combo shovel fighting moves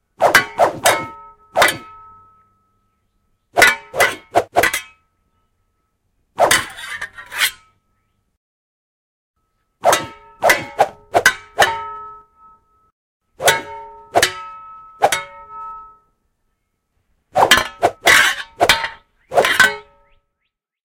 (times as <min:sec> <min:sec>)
0:00.2 0:01.9, 0:17.4 0:19.7